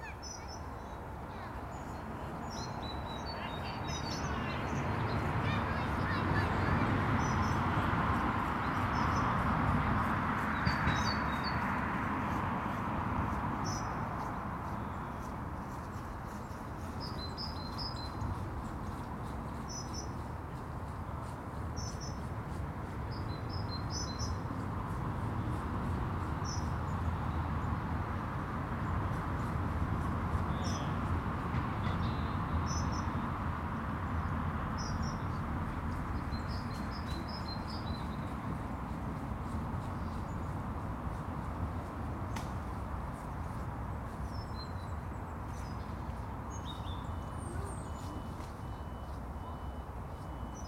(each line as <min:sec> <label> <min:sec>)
0:00.0 Birdsong comes and goes 0:50.6